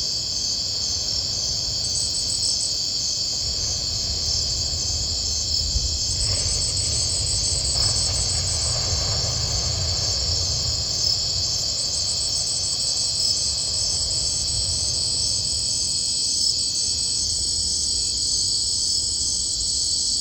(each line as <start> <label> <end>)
0.0 crickets are singing 20.2